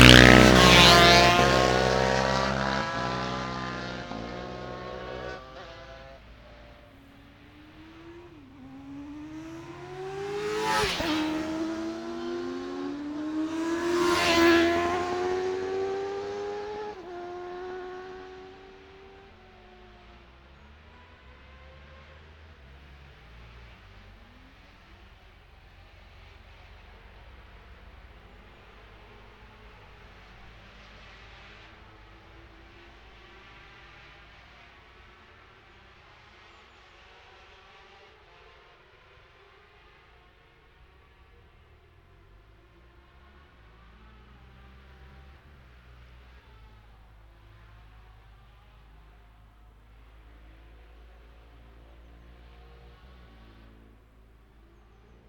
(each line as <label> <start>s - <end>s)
motorcycle road racing 0.0s - 55.2s